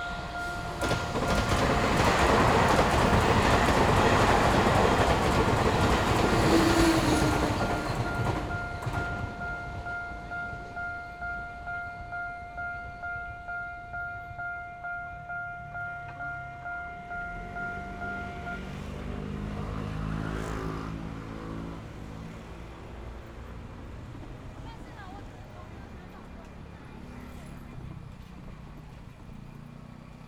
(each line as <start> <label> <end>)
0.0 Traffic Sound 12.1
0.0 Railway level crossing 20.2
0.0 Trains traveling through 30.2
16.0 Traffic Sound 30.2